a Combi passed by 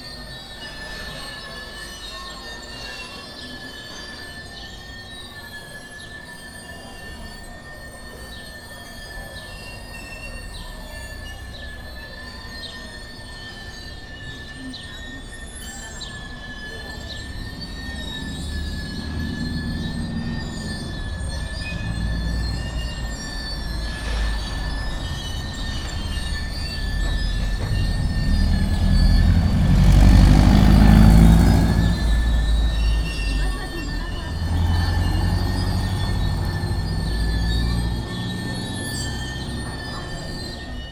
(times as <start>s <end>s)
15.8s 40.9s